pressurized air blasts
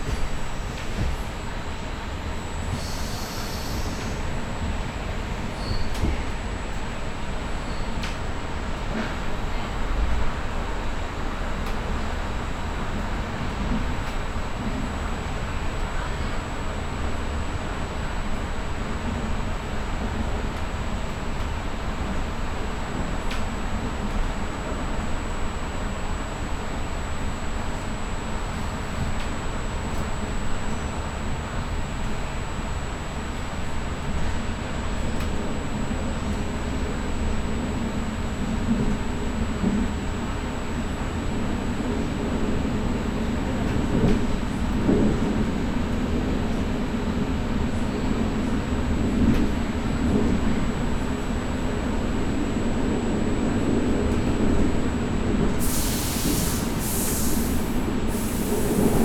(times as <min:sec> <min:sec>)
0:55.6 0:59.0